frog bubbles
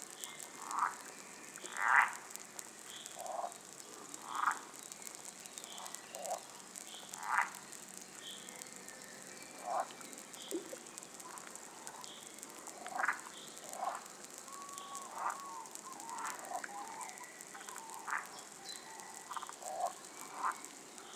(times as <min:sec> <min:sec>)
0:09.6 0:11.0